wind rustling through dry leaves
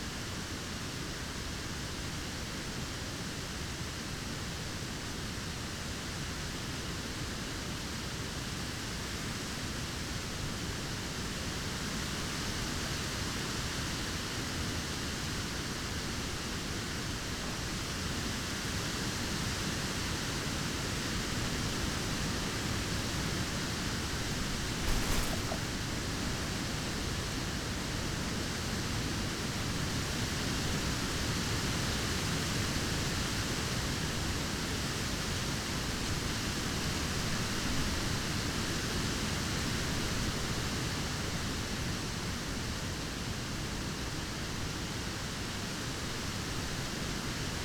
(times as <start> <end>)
23.0 26.8